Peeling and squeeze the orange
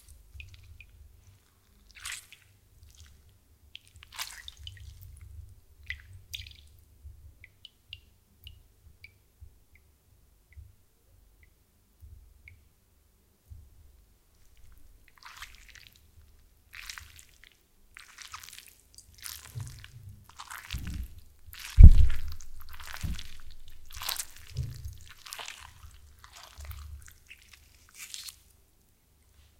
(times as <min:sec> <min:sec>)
0:20.7 0:28.6